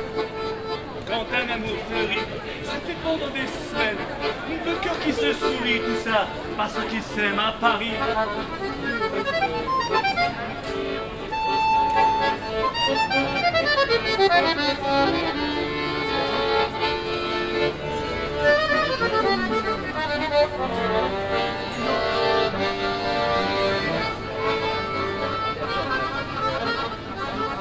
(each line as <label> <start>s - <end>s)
street musician performing accordeon music 0.0s - 27.6s